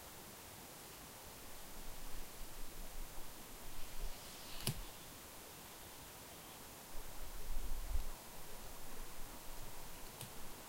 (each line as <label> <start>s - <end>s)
light forest sounds 0.0s - 10.6s